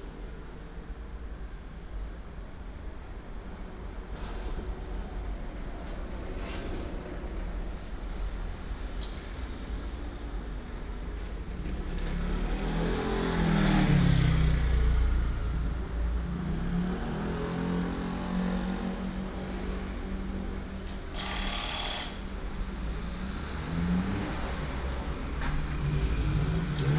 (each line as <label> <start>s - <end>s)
the train runs through 0.0s - 12.7s
traffic sound 0.0s - 26.9s
Railroad Crossing 0.0s - 26.9s